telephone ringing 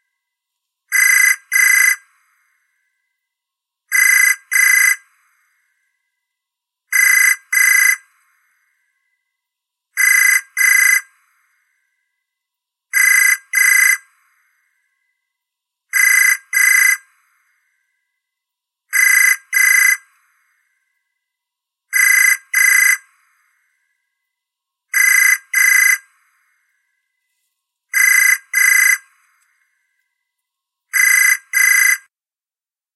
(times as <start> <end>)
28.0 29.0